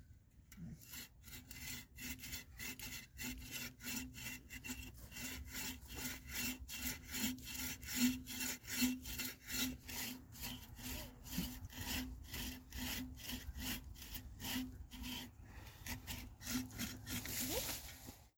Sawing tree 0.5 - 18.3

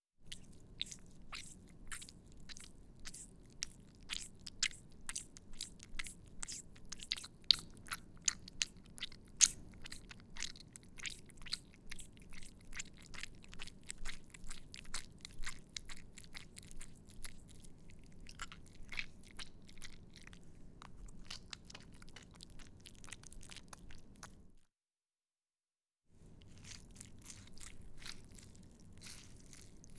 Simple squish sounds 0.2 - 24.6
Simple squish sounds 26.2 - 29.9

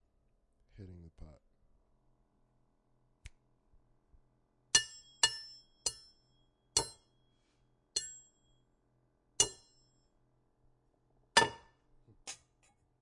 Tapping a pot 4.8 - 6.2
Tapping a pot 6.8 - 7.1
Tapping a pot 8.0 - 8.4
Tapping a pot 9.4 - 9.8
Tapping a pot 11.4 - 11.8

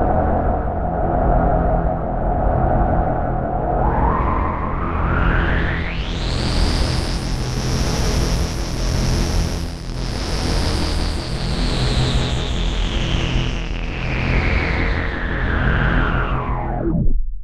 bass drone 0.0 - 17.4

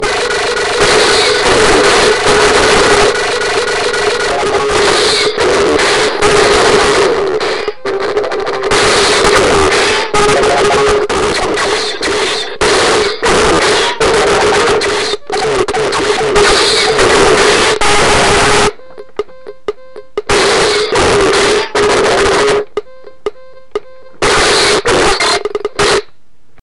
Circuit bent miniature galactic pinball machine 0.0 - 22.8

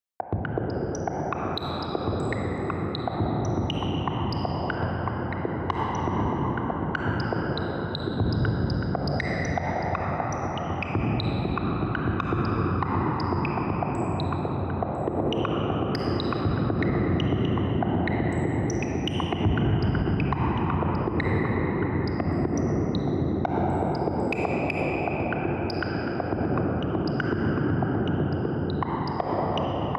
Percussion 0.3 - 29.9

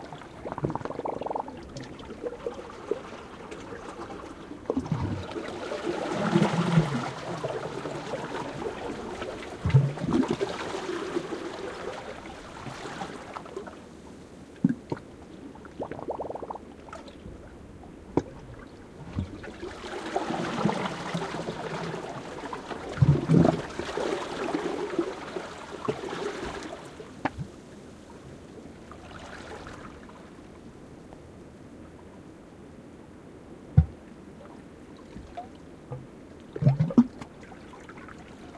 water moving through the seaweed 0.0 - 30.5
Quiet waves lapping again some rocks 0.0 - 31.0

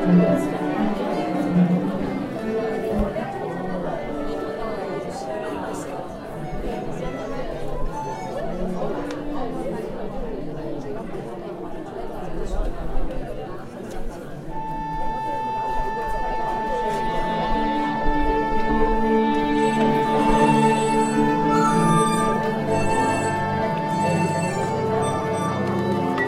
crowd 0.0 - 26.2
arquestra warmingUp 14.6 - 26.2

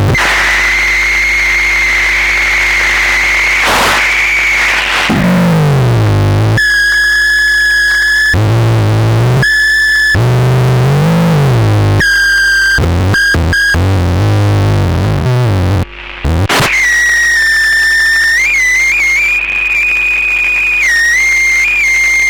Noisy sounds recorded from a circuit-bent radio transistor 0.0 - 22.2

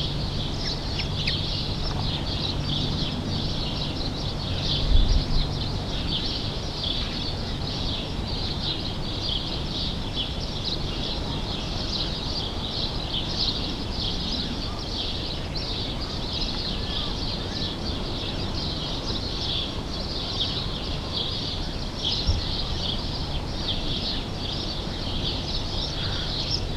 sparrows 0.0 - 26.7
crows 25.8 - 26.7

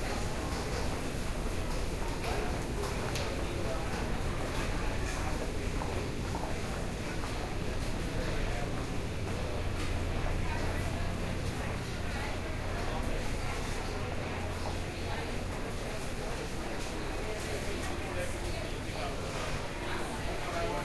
crowd 0.0 - 20.8

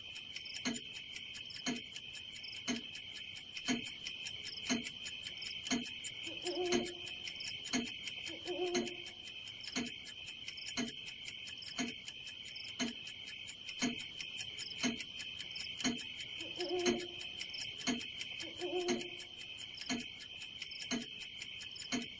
Clock 0.0 - 22.1
owl 6.3 - 7.0
owl 8.3 - 9.0
owl 16.5 - 17.2
owl 18.5 - 19.1

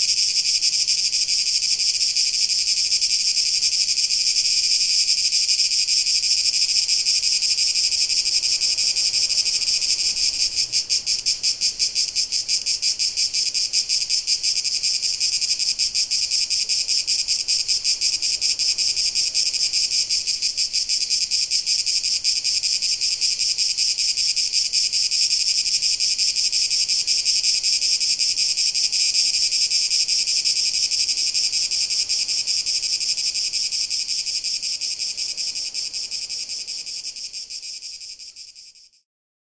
cicadas 0.0 - 39.0

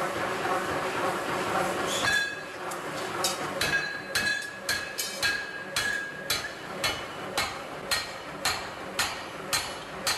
WORKERS FORGING STEEL 0.0 - 10.1

